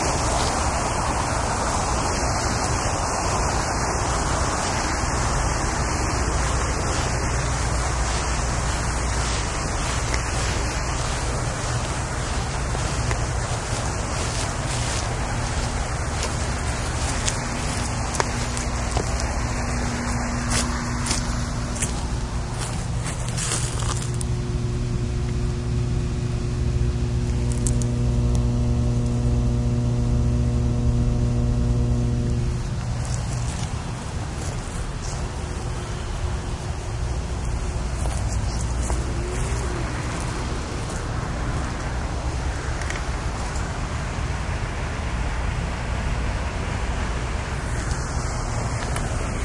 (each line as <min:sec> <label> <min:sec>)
0:34.4 train 0:49.4